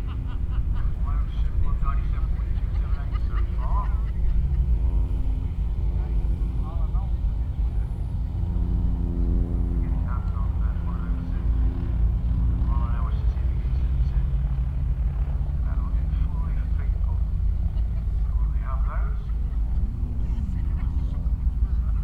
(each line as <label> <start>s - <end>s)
blustery conditions 19.2s - 22.0s